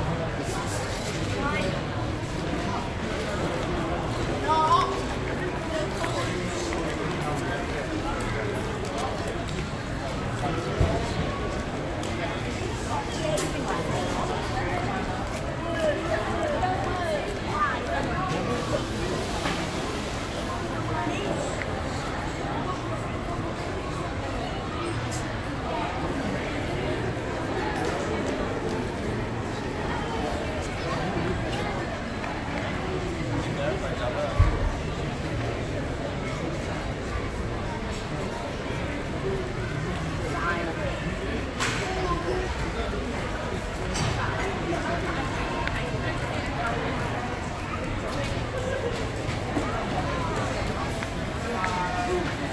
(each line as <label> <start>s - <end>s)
Voices of passengers 0.0s - 52.5s
noise from restaurants 0.0s - 52.5s